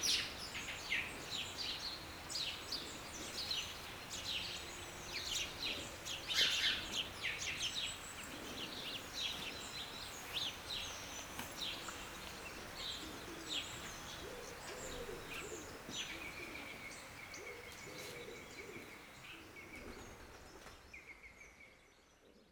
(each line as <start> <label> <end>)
0.0 sparrows were singing and eating wheat grains 22.5